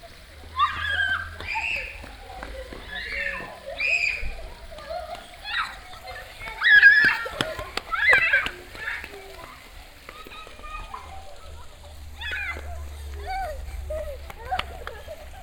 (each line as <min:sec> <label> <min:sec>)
0:00.0 children running around, screaming in local tongue 0:15.4
0:00.0 water fountain 0:15.4